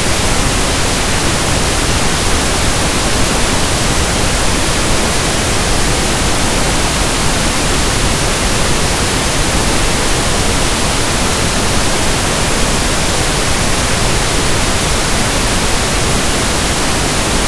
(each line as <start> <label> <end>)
0.0 pink noise 17.4